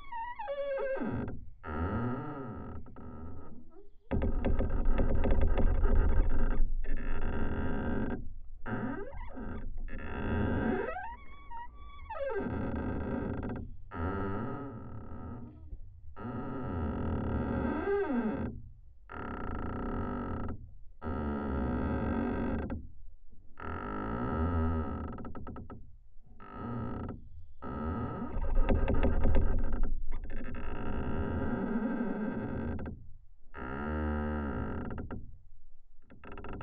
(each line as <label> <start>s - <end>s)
squeaking pine tree 3.5s - 13.6s